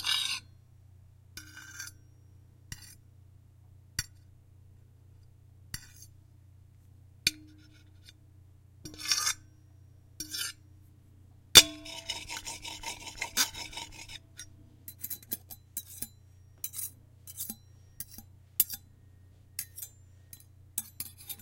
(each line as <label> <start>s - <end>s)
scuffing and scraping from a fork and knife on an empty plate 5.7s - 6.2s
scuffing and scraping from a fork and knife on an empty plate 8.9s - 9.4s
scuffing and scraping from a fork and knife on an empty plate 10.2s - 10.6s
scuffing and scraping from a fork and knife on an empty plate 11.7s - 21.4s